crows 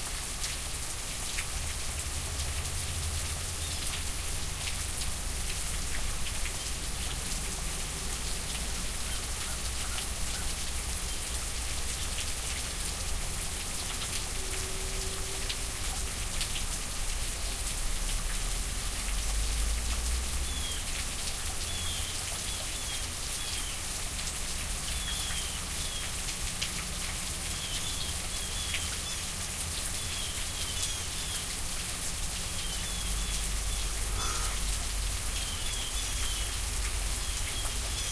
9.1 10.6, 33.9 34.8

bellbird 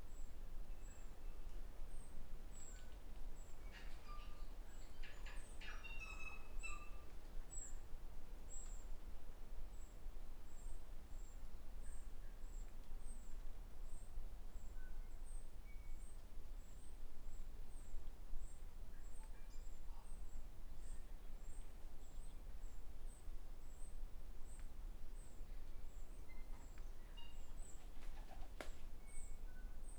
26.3 27.9

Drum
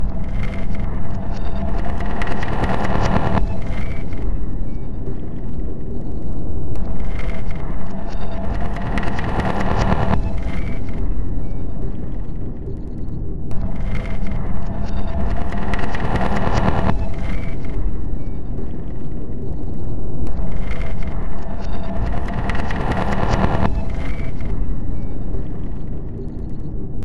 0.0 4.0, 8.2 11.1, 13.5 17.7, 20.3 24.8

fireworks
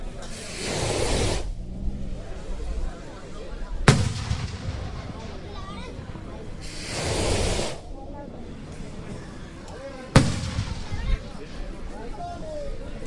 3.9 7.8, 10.2 11.4

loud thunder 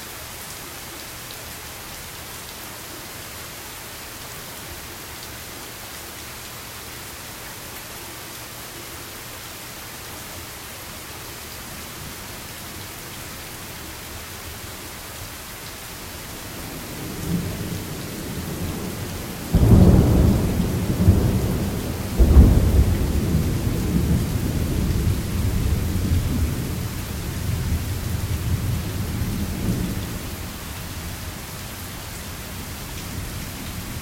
17.0 26.8

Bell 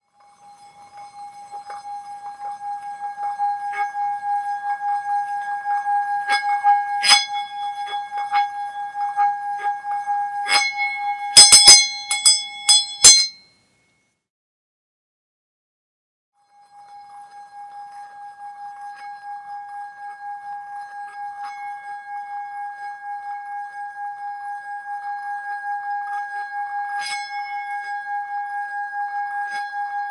10.5 14.0

